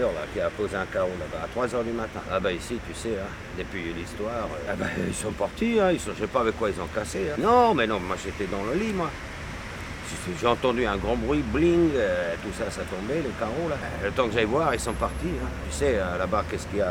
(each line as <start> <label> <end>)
4.6 Archimede's testimony 5.9